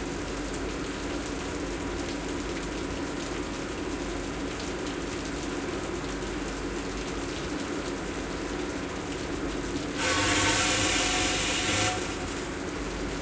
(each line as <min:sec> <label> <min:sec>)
0:00.0 Old filtration system , spritz 0:13.2